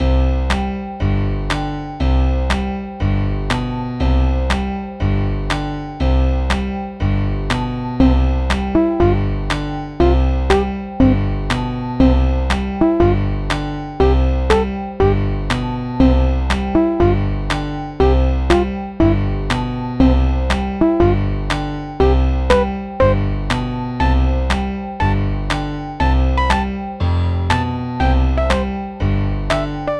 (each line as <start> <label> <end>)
0.0 piano 29.9